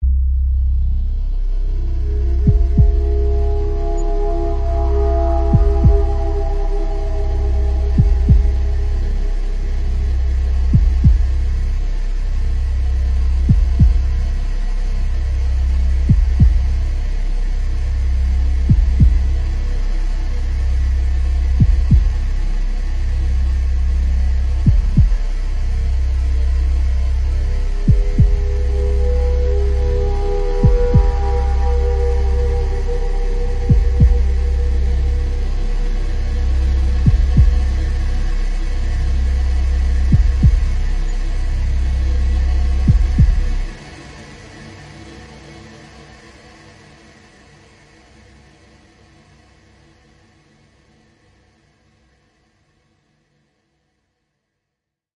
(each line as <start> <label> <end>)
0.0 drone 49.5
2.2 heartbeat 9.3
10.4 heartbeat 11.6
13.3 heartbeat 14.3
16.0 heartbeat 16.9
18.6 heartbeat 19.5
21.5 heartbeat 22.4
24.6 heartbeat 25.4
27.8 heartbeat 38.9
39.8 heartbeat 41.2
42.7 heartbeat 43.8